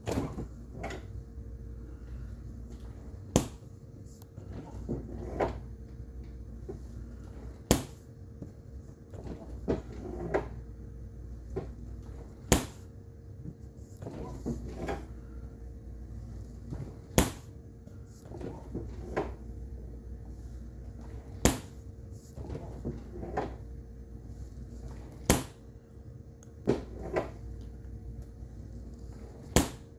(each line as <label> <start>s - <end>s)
refrigerator door opening and closing 0.0s - 1.2s